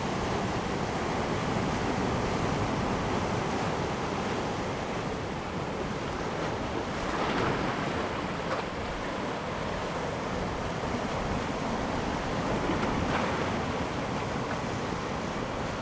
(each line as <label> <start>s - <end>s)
waves, on the rocky shore 0.2s - 15.8s